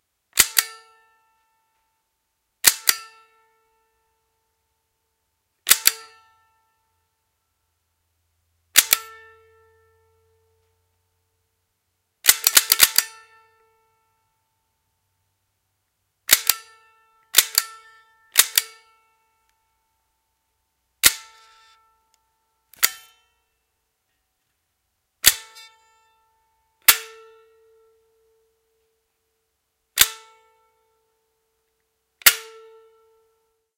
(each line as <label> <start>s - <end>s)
trigger pulls 5.7s - 6.0s
trigger pulls 12.2s - 13.2s
trigger pulls 16.3s - 16.6s
trigger pulls 18.4s - 18.8s
trigger pulls 22.8s - 23.2s